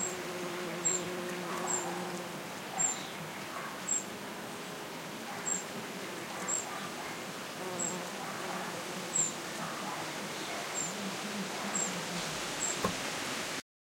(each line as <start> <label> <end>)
0.0 bee buzzing 2.5
7.5 bee buzzing 13.1